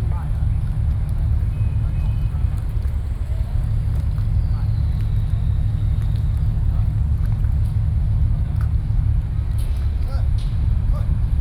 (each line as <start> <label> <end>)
0.0 Fishing boats 11.4